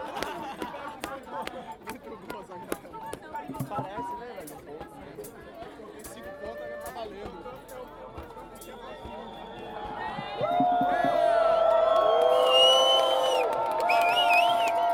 0.0s peaceful legalise marijuana march 14.9s

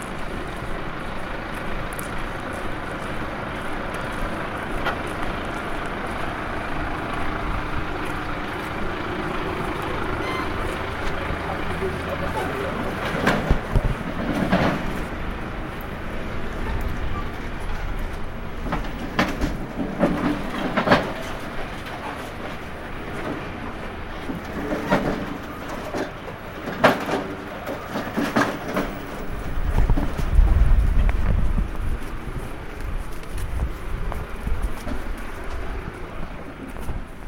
0.0s voice of the nature 29.4s
4.3s new beers being delivered 30.5s

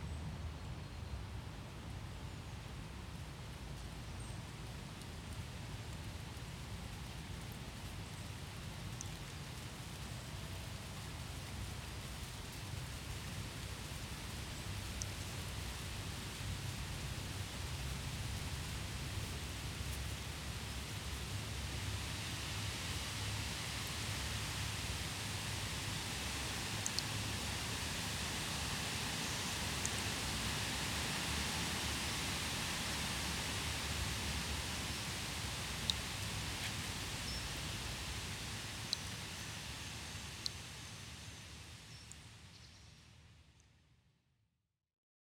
4.5s wind in the trees 43.0s

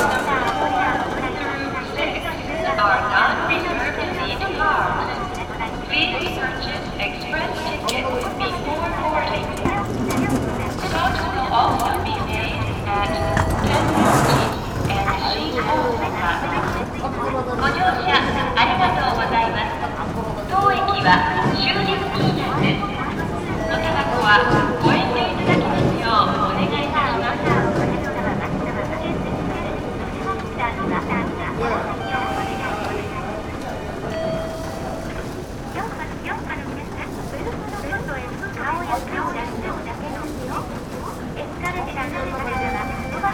0.0s train station voices 43.3s

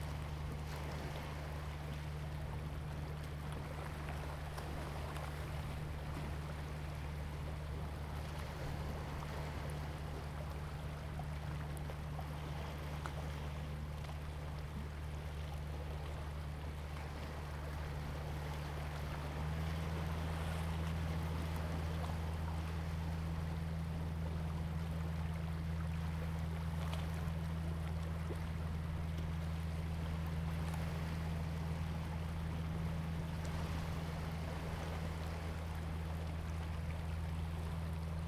0.0s Tide 38.2s

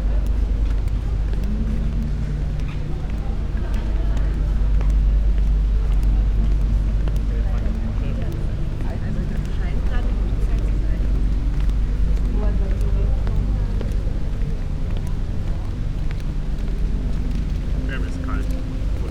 0.0s walking, clogs 19.1s

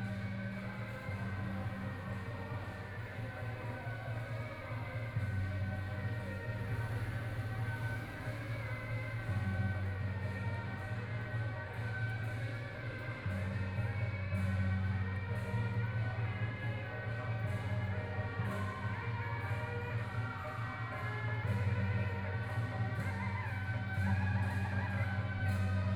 0.0s traditional performing teams 25.9s

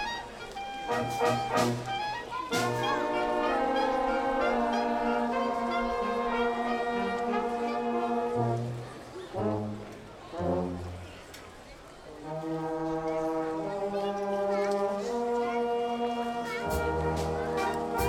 0.0s people on main town square are listening 18.0s

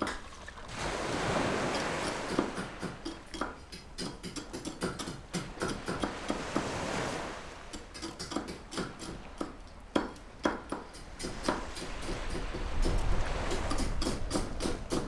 0.0s waves 15.0s

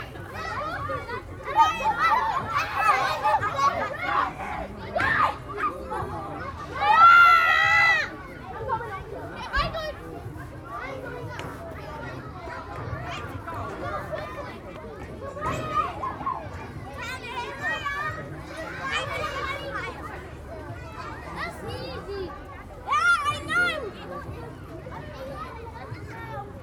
0.0s Kids playing 26.6s

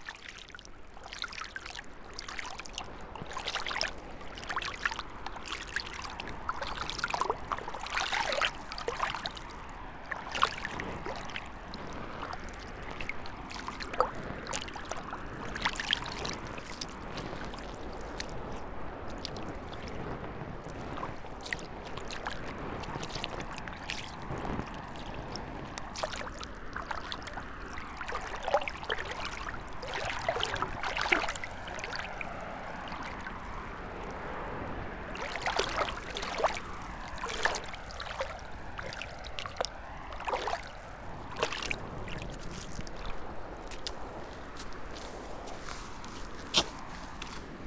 0.0s feet, gravel-stones, mud 20.1s
0.0s river 47.6s
20.8s feet, gravel-stones, mud 47.6s

